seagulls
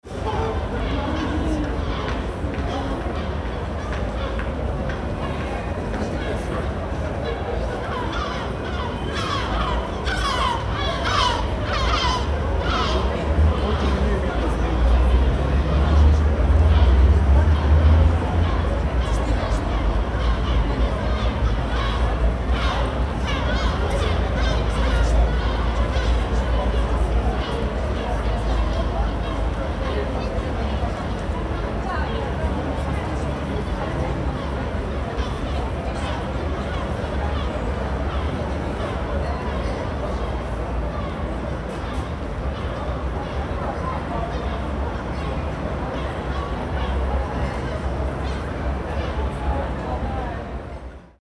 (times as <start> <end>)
6.0 15.2, 16.7 32.4